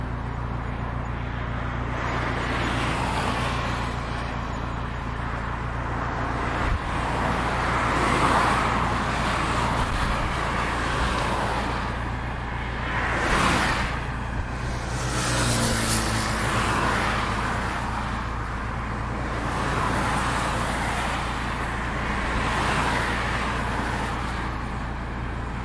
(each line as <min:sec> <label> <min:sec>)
0:00.0 cars passing on busy avenue 0:25.6